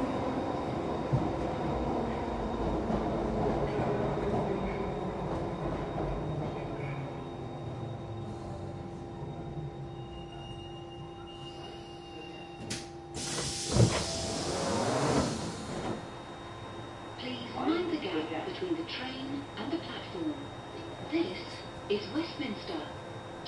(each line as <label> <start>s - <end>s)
train action 0.0s - 23.4s
doors opening and closing 11.6s - 16.1s
hiss 13.2s - 15.8s
announcements 17.0s - 23.4s